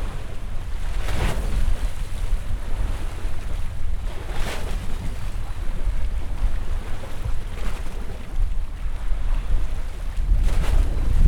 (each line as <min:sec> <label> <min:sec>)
0:00.0 waves 0:11.2